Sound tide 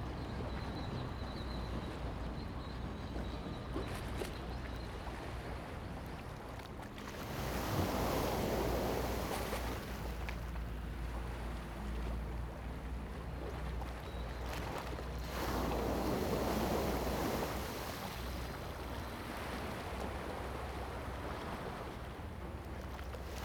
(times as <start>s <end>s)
7.0s 23.4s